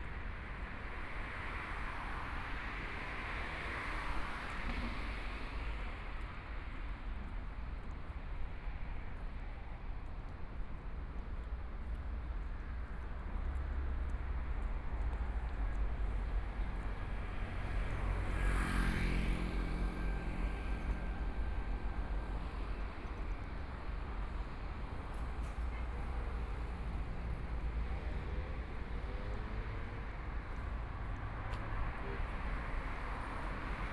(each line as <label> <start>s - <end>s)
walking on the Road 0.0s - 33.9s
Traffic Sound 11.6s - 33.9s